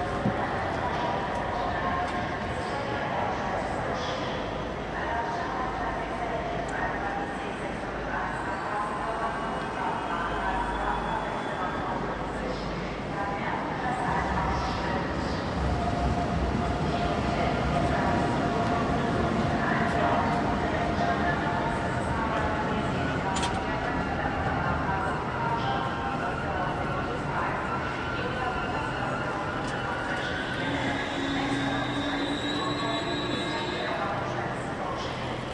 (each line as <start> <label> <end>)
0.0 Arriving and departing trains 35.5
0.0 announcements 35.5